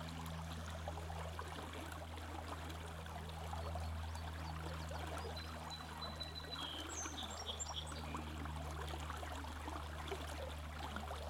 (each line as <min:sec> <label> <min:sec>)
0:03.6 Creek sings 0:08.4